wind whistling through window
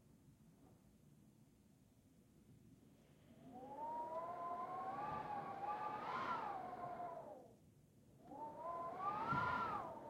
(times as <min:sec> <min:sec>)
0:03.5 0:07.5, 0:08.3 0:10.0